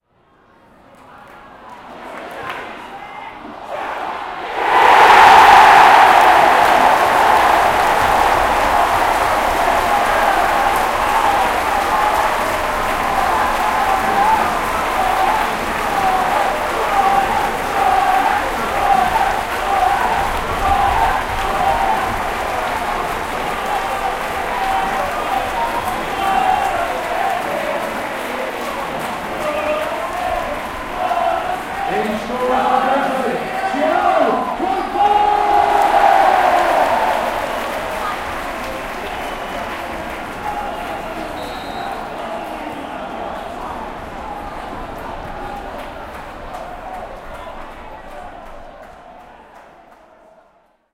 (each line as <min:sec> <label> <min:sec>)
0:01.8 Football-crowd-GOAL 0:50.8